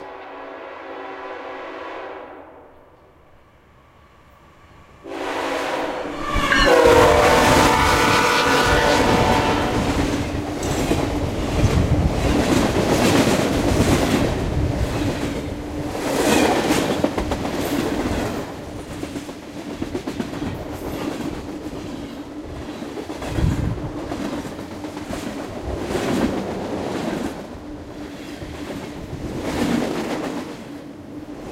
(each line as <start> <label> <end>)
0.0 Fast moving freight train 31.5
5.1 FreightFast Horn 9.9